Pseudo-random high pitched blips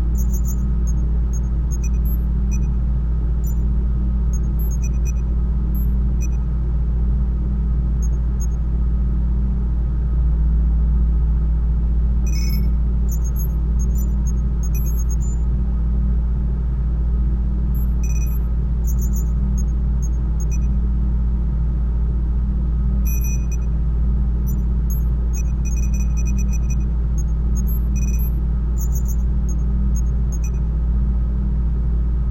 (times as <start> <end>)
12.3 15.4, 17.8 19.3, 27.6 29.2